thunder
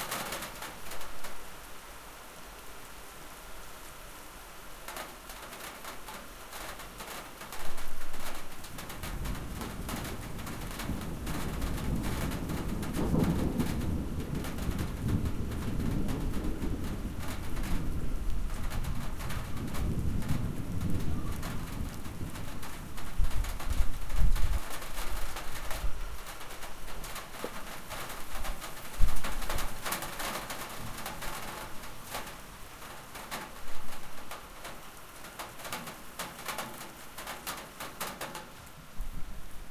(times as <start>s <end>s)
8.8s 26.0s